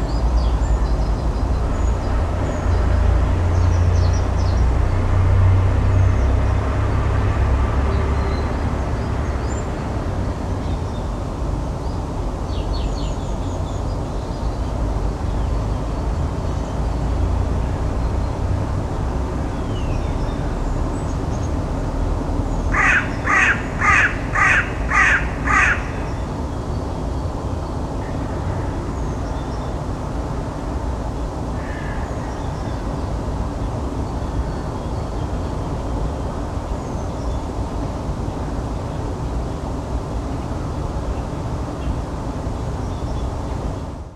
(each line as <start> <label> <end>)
0.0 noise of the huge twenty lane highway 44.1
22.7 Crows 26.2
31.6 Crows 32.4